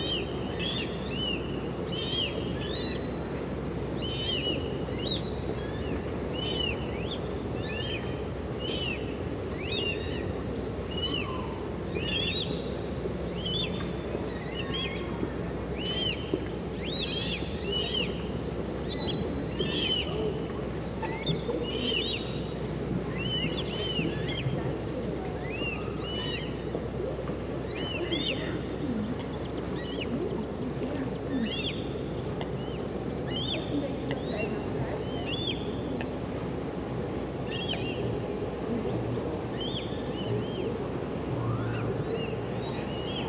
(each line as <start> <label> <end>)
0.0 birds flying around and moving in the water 43.2
0.0 few people passing by 43.2